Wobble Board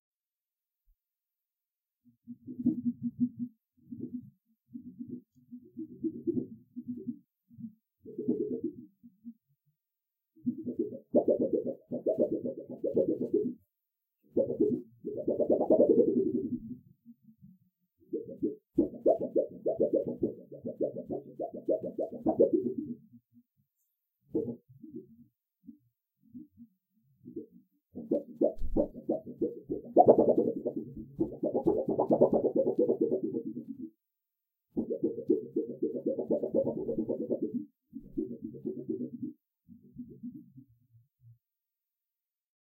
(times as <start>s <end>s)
10.5s 13.5s, 14.4s 16.6s, 18.1s 22.9s, 27.3s 33.9s, 34.8s 39.3s